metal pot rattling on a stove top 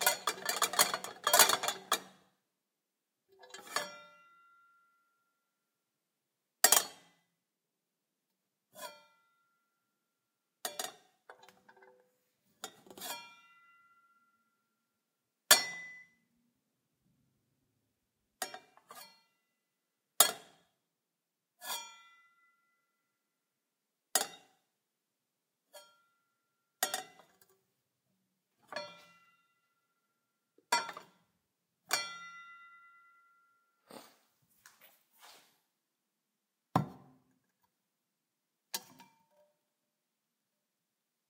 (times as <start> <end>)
0.0 2.2